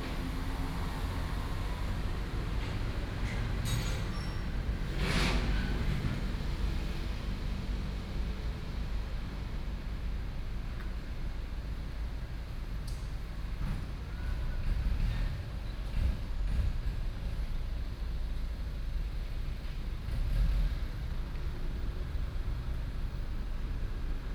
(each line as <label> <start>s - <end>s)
Traffic noise 0.0s - 24.3s